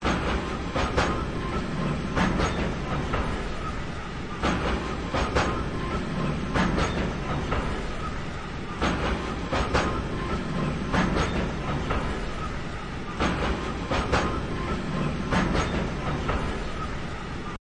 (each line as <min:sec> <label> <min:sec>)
0:00.0 Train Track Joints Slow 0:17.6